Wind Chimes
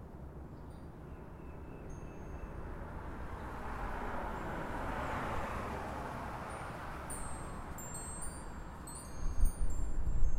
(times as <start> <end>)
0.5 2.8, 4.3 4.7, 6.4 10.3